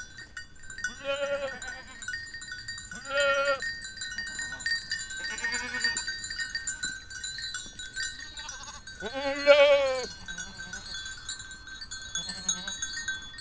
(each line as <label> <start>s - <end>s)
herd of curious goats is approaching 0.0s - 13.4s
ringing bells from afar 0.0s - 13.4s